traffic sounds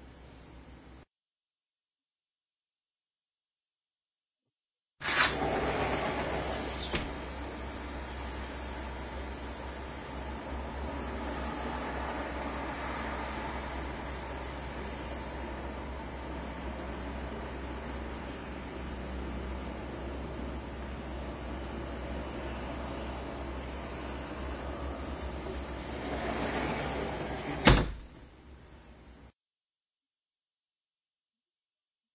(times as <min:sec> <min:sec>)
0:07.6 0:29.2